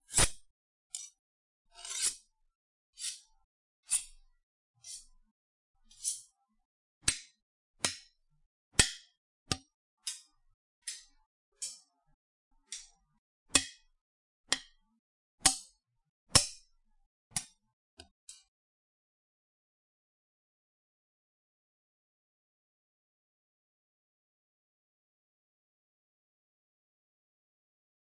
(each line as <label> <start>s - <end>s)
Knives scraped and tapped together 0.0s - 1.2s
Knives scraped and tapped together 1.8s - 2.3s
Knives scraped and tapped together 3.0s - 3.3s
Knives scraped and tapped together 3.9s - 4.2s
Knives scraped and tapped together 4.8s - 5.1s
Knives scraped and tapped together 5.9s - 6.3s
Knives scraped and tapped together 7.0s - 8.1s
Knives scraped and tapped together 8.8s - 11.9s
Knives scraped and tapped together 12.6s - 13.0s
Knives scraped and tapped together 13.6s - 13.8s
Knives scraped and tapped together 14.5s - 14.8s
Knives scraped and tapped together 15.4s - 15.7s
Knives scraped and tapped together 16.4s - 16.6s
Knives scraped and tapped together 17.3s - 18.5s